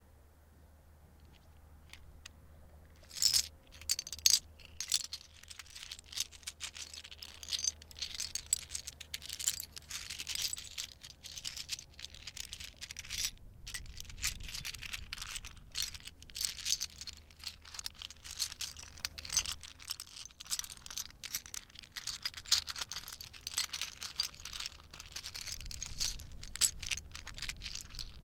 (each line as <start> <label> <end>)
3.0 seashells being scooped 28.2